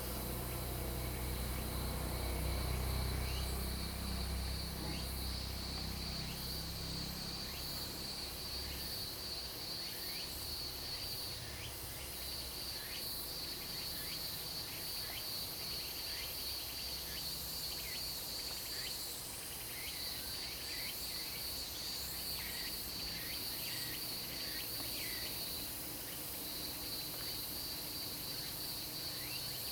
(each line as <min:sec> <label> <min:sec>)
0:00.0 Cicadas cry 0:10.3